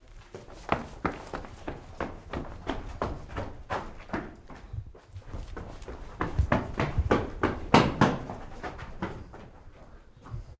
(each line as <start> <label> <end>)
0.1 Running on a stone surface 10.5